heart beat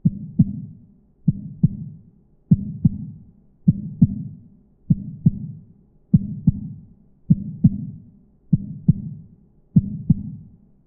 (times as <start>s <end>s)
0.0s 0.7s, 1.3s 1.9s, 2.5s 4.3s, 4.9s 9.2s, 9.8s 10.4s